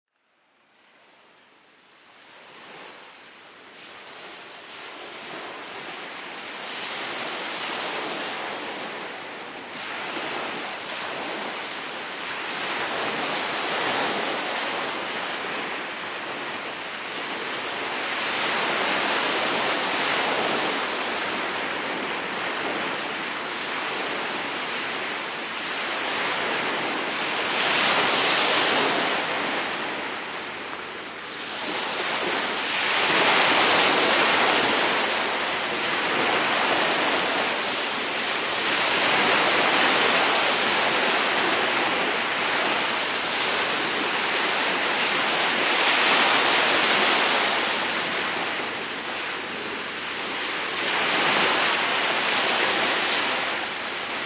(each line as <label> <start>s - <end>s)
waves 0.2s - 54.2s